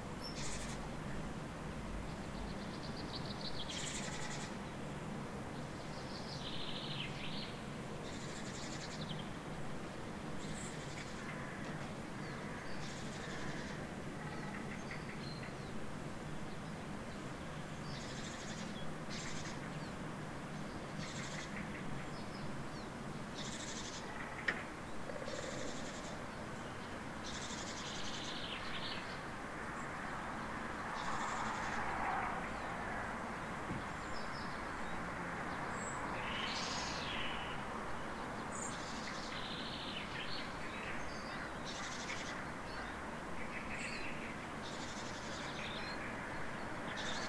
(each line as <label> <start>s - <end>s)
several birds 0.2s - 1.2s
several birds 5.6s - 47.2s